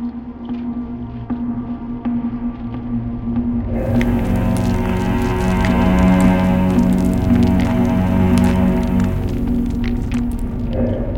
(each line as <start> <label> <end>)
3.7 Drone 11.1